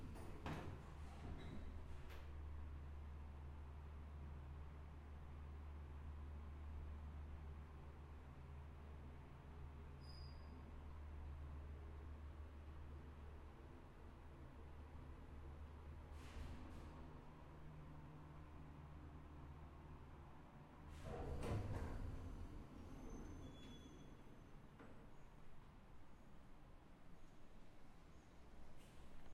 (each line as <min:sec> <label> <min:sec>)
0:20.9 door opening and closing of a cargo goods lift 0:24.4